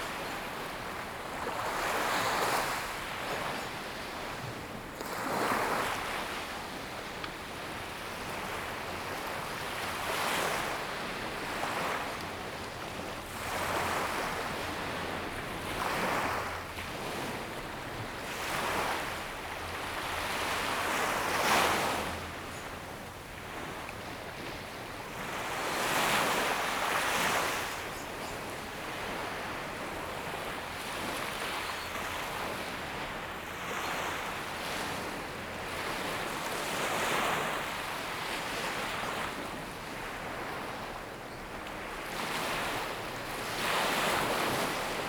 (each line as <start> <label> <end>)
0.0 waves 45.0